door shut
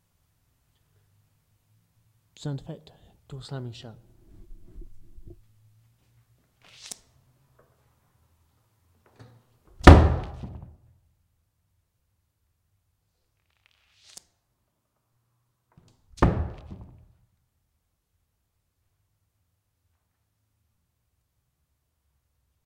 9.2 10.7, 16.2 17.0

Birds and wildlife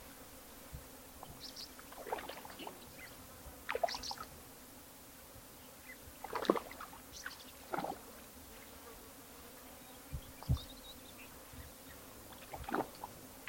1.1 4.4, 5.5 8.8, 9.5 13.1

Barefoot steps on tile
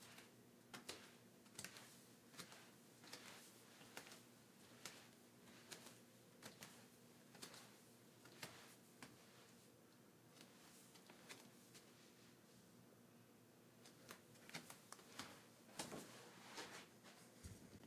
0.0 9.4

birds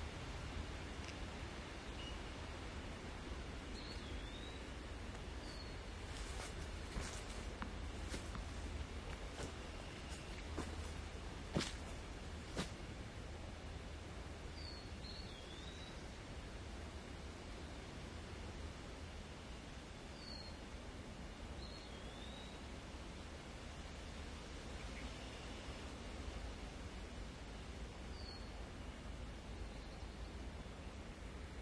3.6 12.8

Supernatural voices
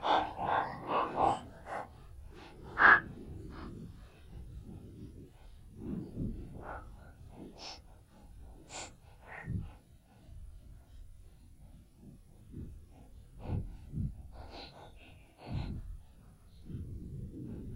0.0 3.8

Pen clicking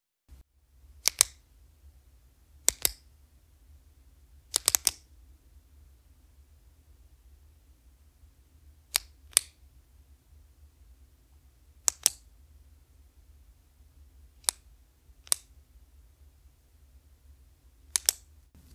1.0 1.4, 2.6 3.0, 4.5 5.0, 8.9 9.6, 11.8 12.2, 14.4 14.6, 15.2 15.5, 17.9 18.3

